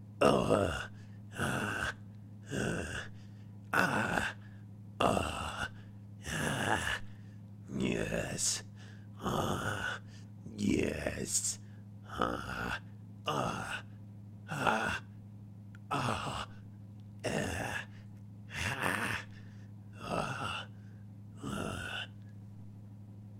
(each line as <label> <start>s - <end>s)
lizard man moaning 0.2s - 15.2s
lizard man moaning 15.8s - 16.6s
lizard man moaning 17.2s - 22.3s